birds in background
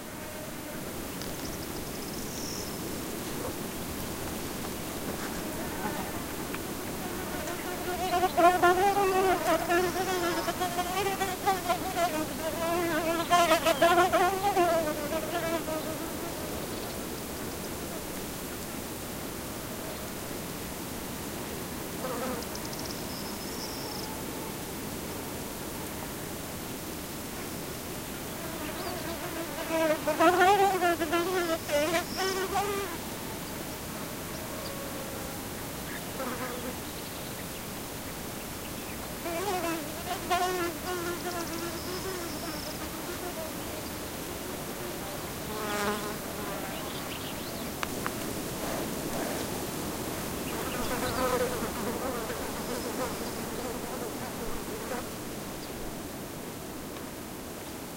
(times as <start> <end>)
1.0 11.6, 22.2 24.6, 28.2 30.4, 31.2 42.9, 45.8 48.2, 50.1 51.6